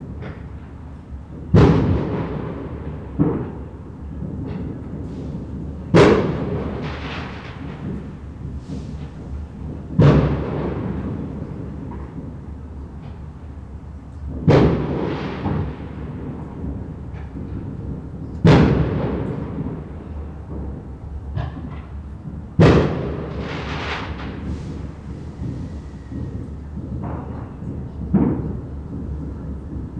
Firework distant 0.0 - 29.9

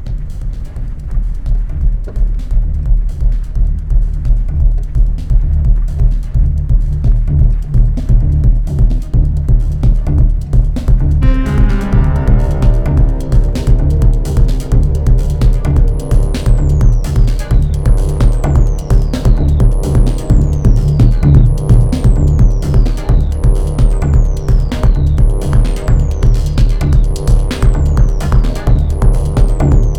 bass 0.0 - 29.9
drum beat 0.0 - 29.9
melody 11.2 - 24.7

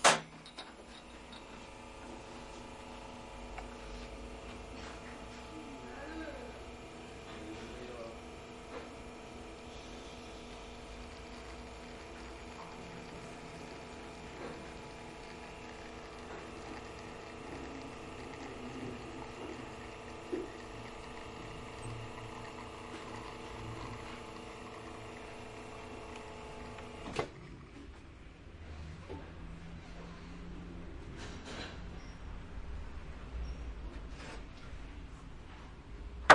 machine 4.4 - 27.9

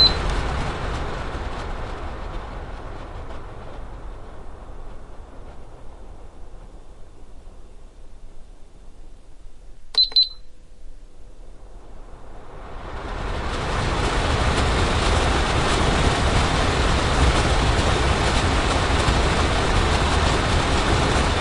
air flow of a air purifier 0.0 - 21.4

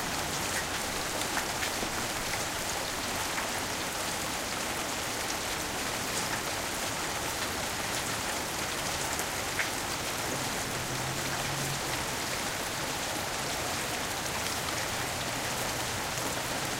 rain flowing down the gutter 0.0 - 16.7
rain hitting the pavement 0.0 - 16.7
cars drive by 9.8 - 16.7

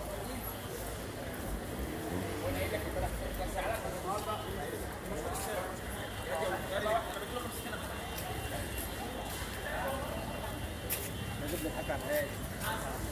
vendors talking 0.0 - 13.1
motorbikes passing by 0.1 - 7.4

